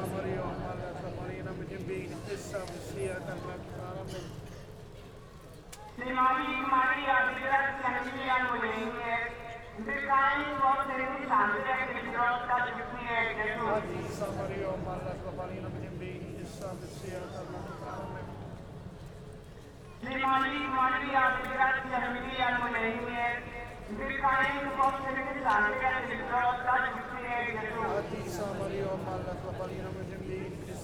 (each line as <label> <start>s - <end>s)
prayer amplified from inside the church 0.0s - 30.8s
Street procession 11.8s - 30.8s